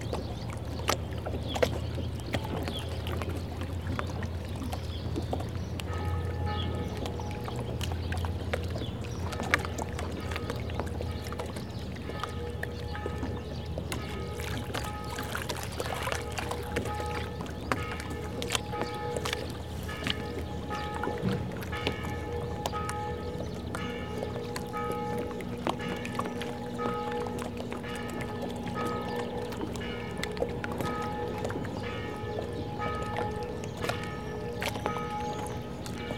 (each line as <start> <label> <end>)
0.0 fishing boat 36.1
5.9 bells 8.5
11.9 bells 36.1